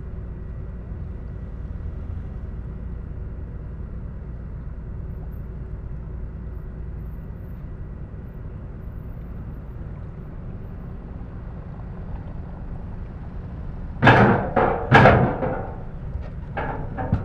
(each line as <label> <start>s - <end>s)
ferry 0.0s - 17.2s